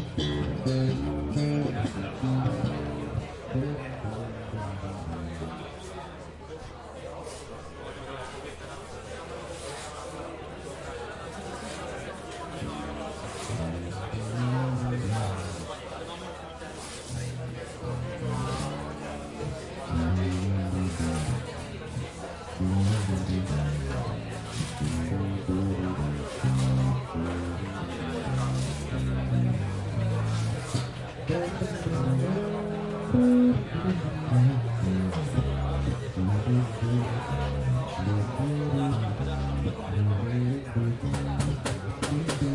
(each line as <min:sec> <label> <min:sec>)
0:00.0 live band rehearsing on stage 0:05.6
0:00.0 people talking 0:42.5
0:12.6 live band rehearsing on stage 0:15.7
0:16.8 live band rehearsing on stage 0:22.0
0:22.6 live band rehearsing on stage 0:42.5